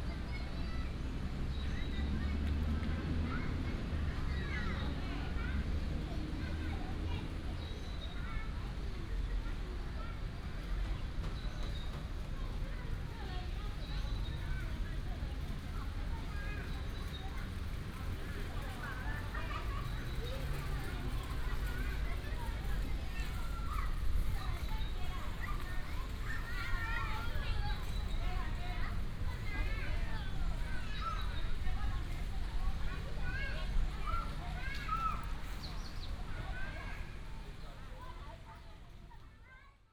17.3s traffic sound 39.1s
33.4s bird sound 36.5s

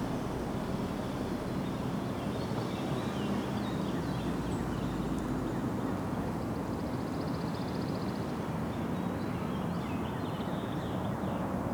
0.0s golf carts traveling around the bend 6.6s
0.0s cars 6.8s

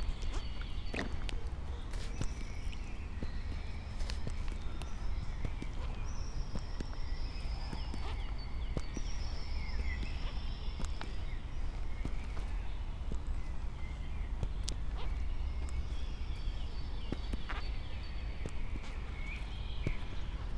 0.0s walking 20.5s

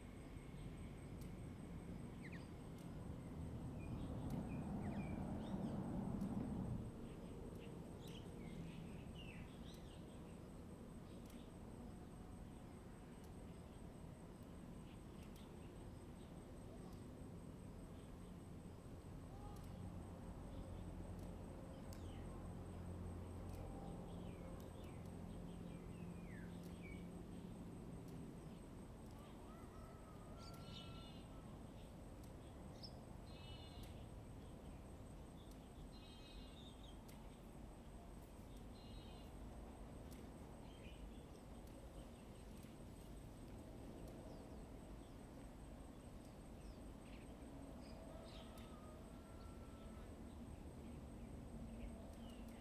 28.4s Birds 52.6s

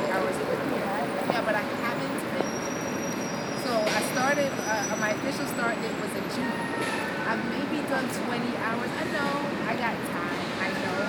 0.0s endless conversation 2.6s

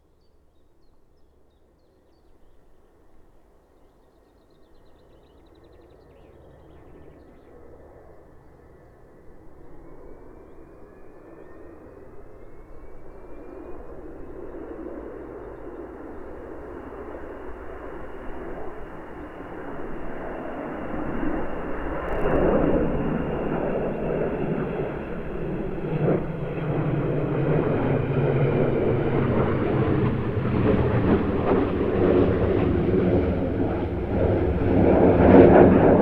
22.0s Avro Vulcan 25.7s

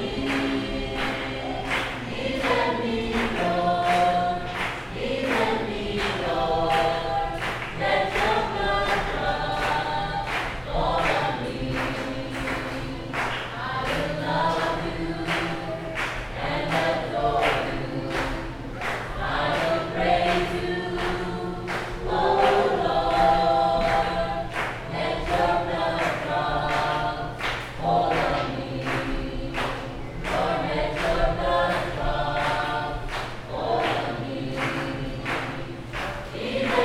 0.0s baptismal singing 36.8s

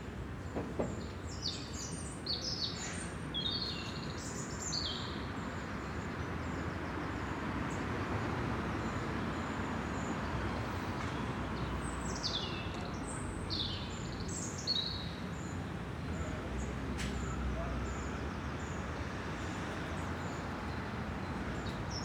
5.2s waves of traffic from above 22.0s

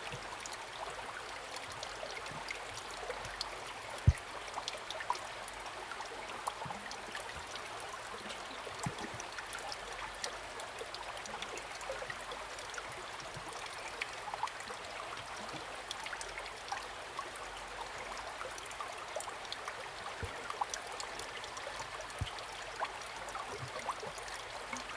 0.0s Small streams 24.9s

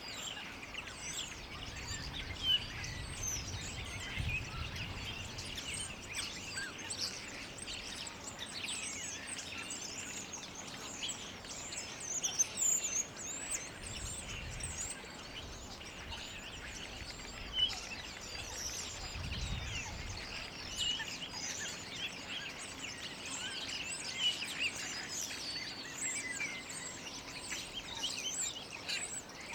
0.0s starlings 29.5s

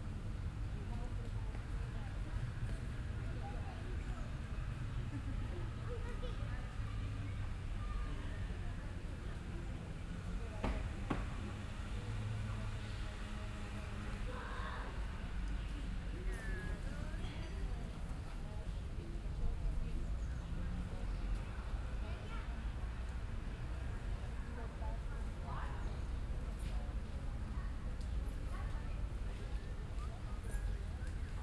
5.0s Children playing 8.7s

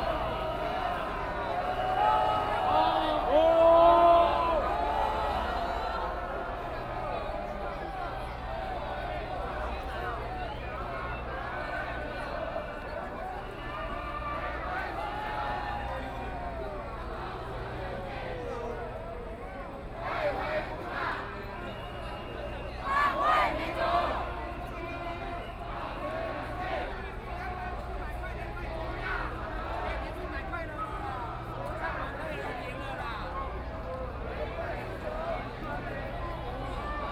22.8s In a rude language against the people involved 36.2s

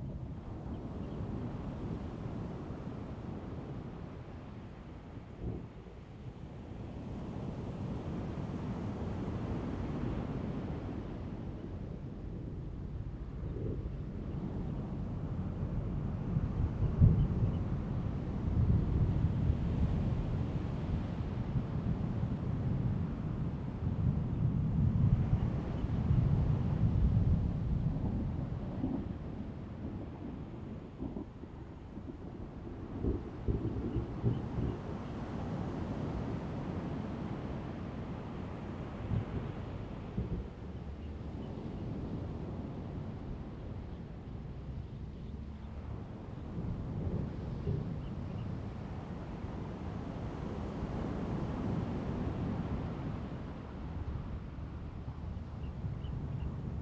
34.5s waves 56.2s

